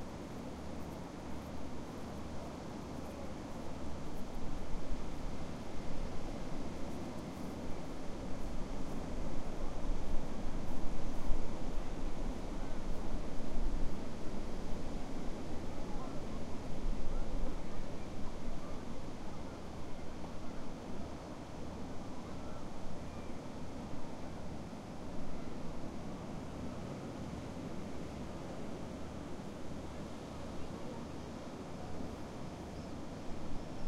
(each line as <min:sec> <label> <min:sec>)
0:30.2 distant neutral conversations 0:33.8